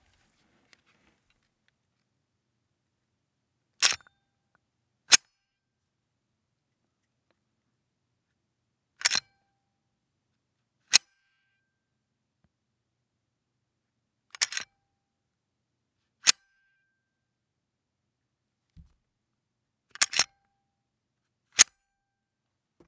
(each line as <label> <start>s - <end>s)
Racking and releasing a Glock 17's slide 9.0s - 9.2s
Racking and releasing a Glock 17's slide 14.4s - 14.6s
Racking and releasing a Glock 17's slide 20.0s - 20.3s